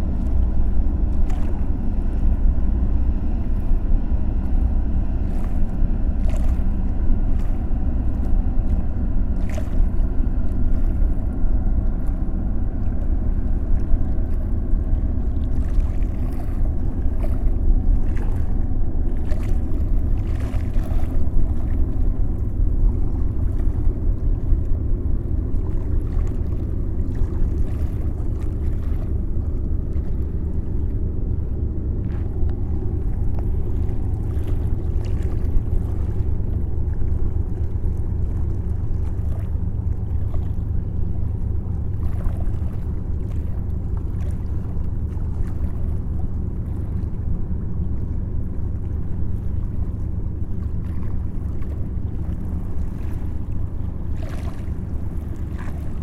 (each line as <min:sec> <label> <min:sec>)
0:00.0 enormous boat 0:56.0